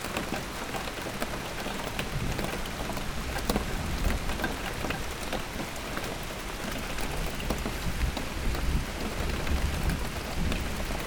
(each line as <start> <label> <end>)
0.0 Drops are falling on a old wheelbarrow 11.0
0.0 Rain 11.0